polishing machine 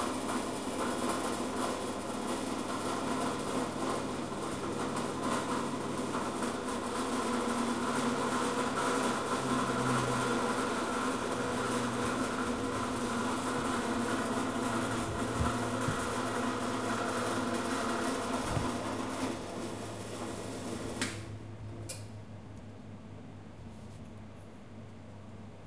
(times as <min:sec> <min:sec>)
0:03.1 0:20.9